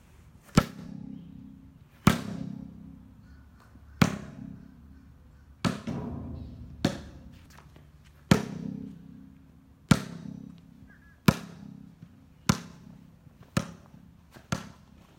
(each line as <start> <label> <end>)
2.0 basketball bouncing 3.0
4.0 basketball bouncing 4.7
5.6 basketball bouncing 15.0